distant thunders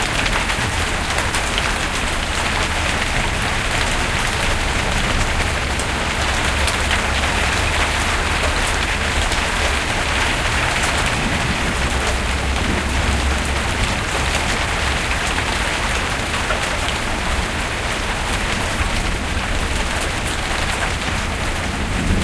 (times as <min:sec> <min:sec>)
0:00.4 0:16.0, 0:20.9 0:22.2